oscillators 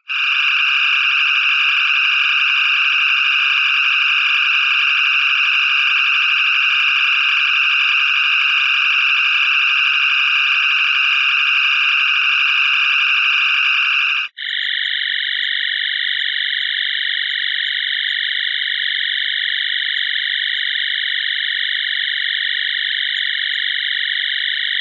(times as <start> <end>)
0.0 14.3